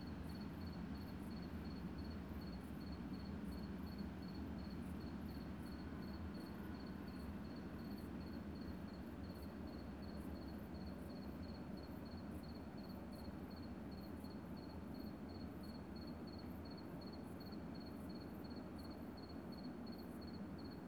very long freight train is passing by at low speed 0.0 - 20.8

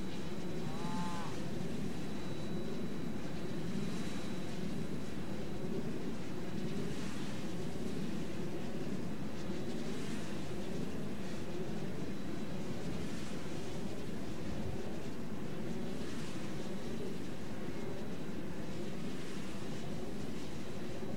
windmills 0.0 - 21.1

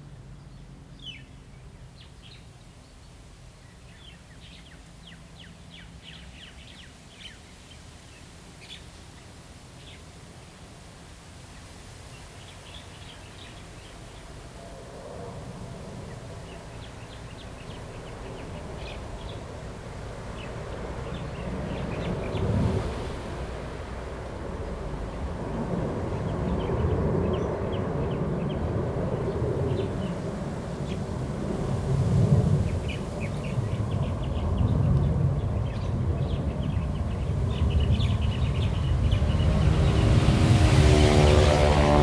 Traffic Sound 36.4 - 42.0
Aircraft flying through 37.3 - 42.0

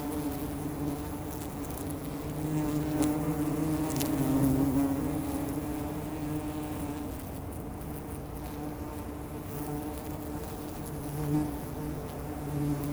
Wild bees are digging holes in the ground 0.0 - 12.9

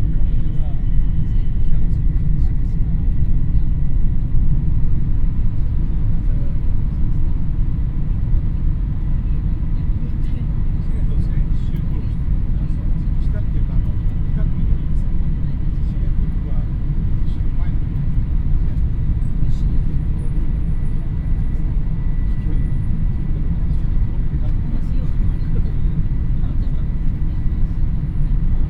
shinkhansen train 0.0 - 11.7

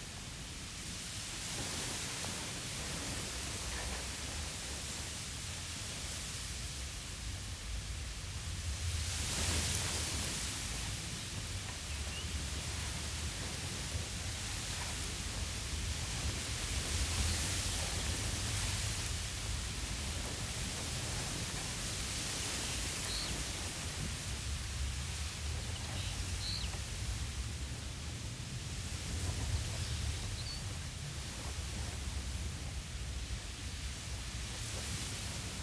Strong wind through reeds 0.0 - 35.6

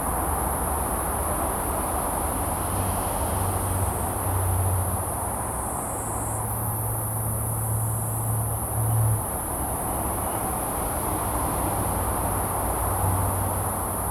Insects 0.0 - 14.1

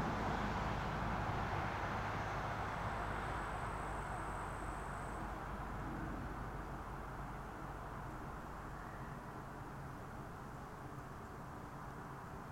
traffic 0.0 - 12.5

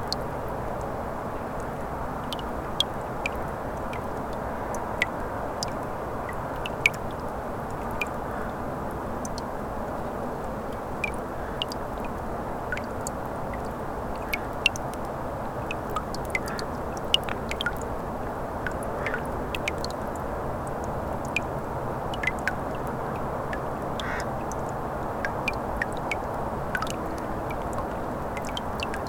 Water dripping from the melting ice plates 0.0 - 29.0

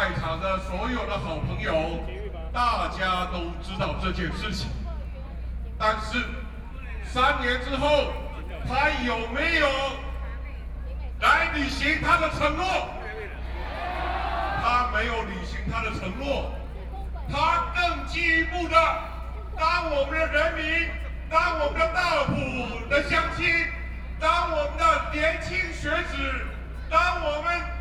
Excitement and enthusiasm speech 5.8 - 27.8

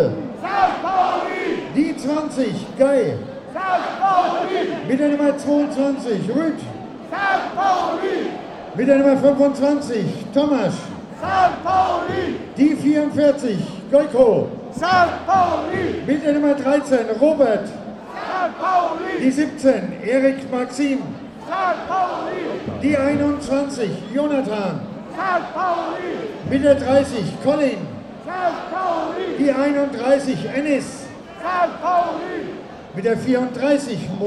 footbal fans 0.0 - 1.8
stadium commentator introducing the teams 0.0 - 34.2
footbal fans 3.5 - 5.0
footbal fans 7.0 - 8.6
footbal fans 10.8 - 13.2
footbal fans 14.6 - 16.4
footbal fans 17.9 - 19.4
footbal fans 21.0 - 30.5

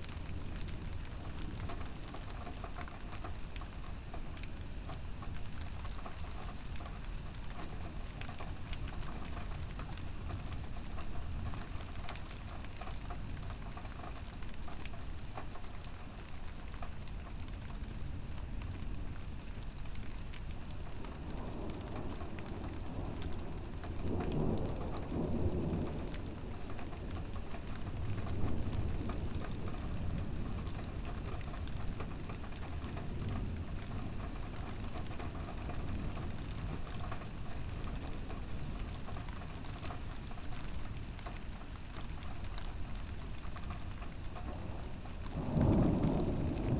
thunderbolt 44.5 - 46.7

